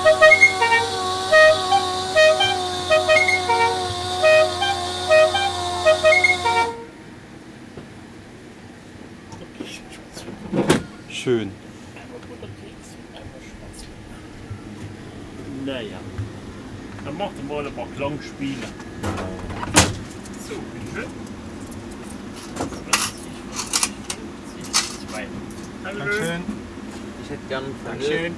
stimmen 0.0 - 7.2

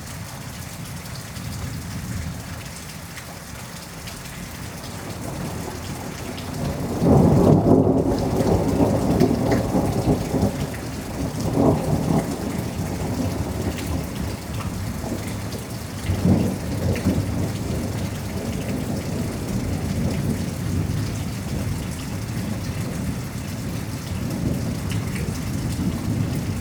Thunderstorm 4.4 - 26.6

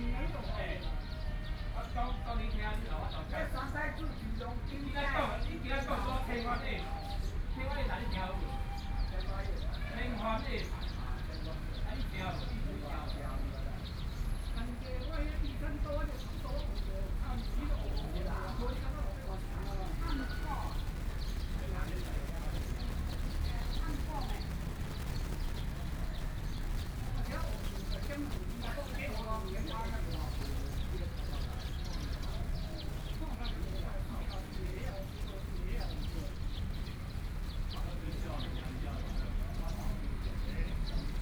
elderly people chatting 0.0 - 41.2

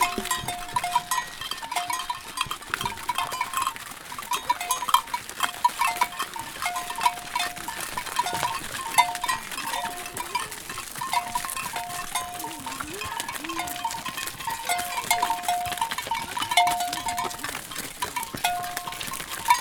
herd of cows being chased home by a boy 0.0 - 19.6
handling sounds 5.8 - 19.6

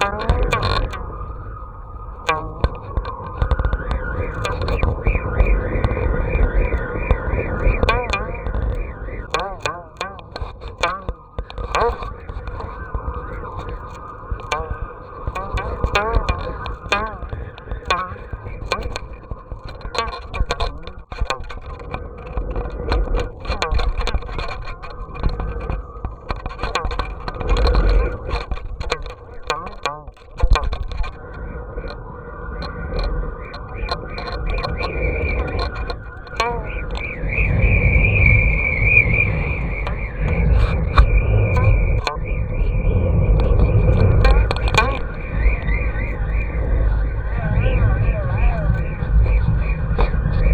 Kite String 0.0 - 50.5

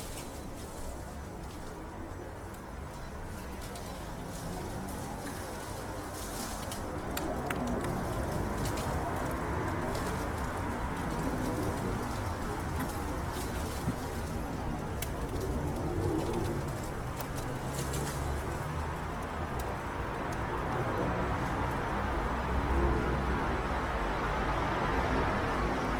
flock of pigeons 0.0 - 24.5

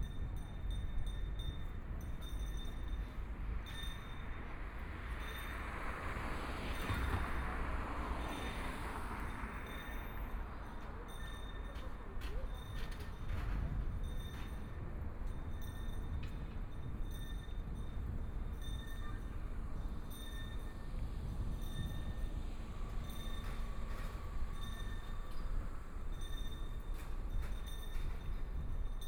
bicycle recycling garbage bells 9.2 - 29.0

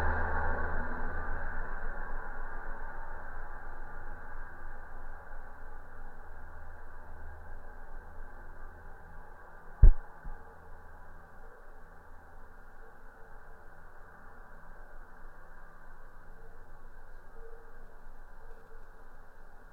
metalic constructions of abandoned viaduct 0.0 - 19.7

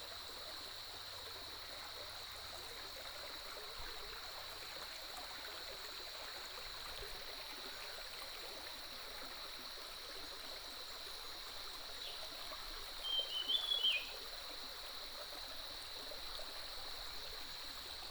Bird calls 13.0 - 14.1

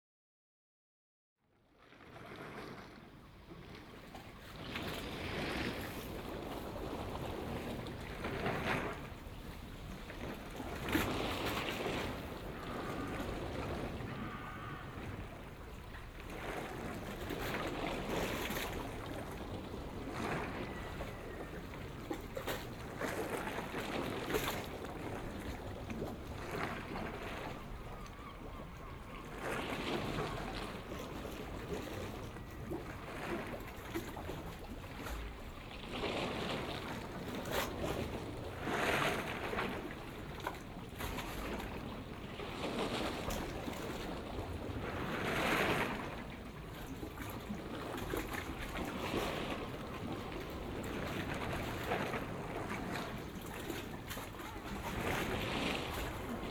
moored yachts and smaller vessels 1.6 - 56.5

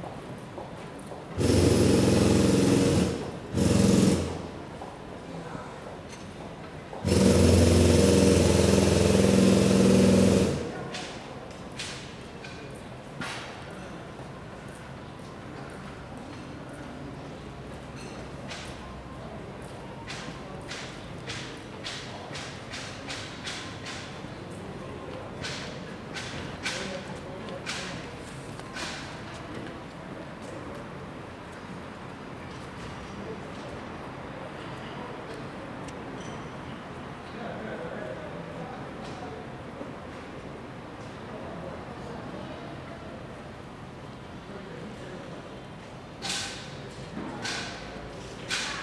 borers digging the entrance 1.4 - 4.6
borers digging the entrance 7.0 - 11.1

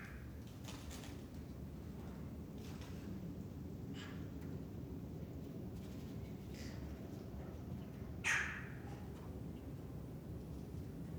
Crows 8.2 - 8.8

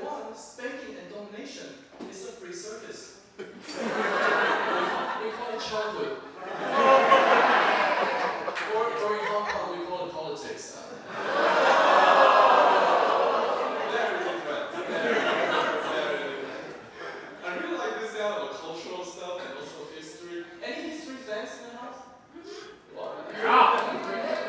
Stand-up Comedy 2.0 - 19.8
audience eats and drinks 3.2 - 9.6
audience eats and drinks 10.9 - 17.6
Stand-up Comedy 21.2 - 24.4
audience eats and drinks 22.4 - 24.4

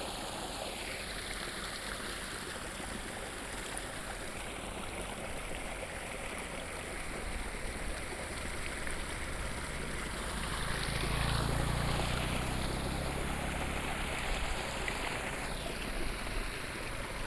Farmland irrigation waterways 0.0 - 17.2
Traffic Sound 5.0 - 17.2

